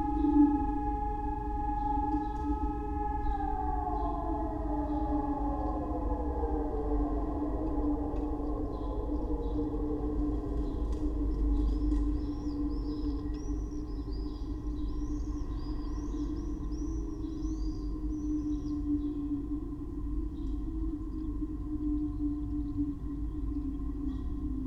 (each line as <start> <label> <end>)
0.0 siren 12.3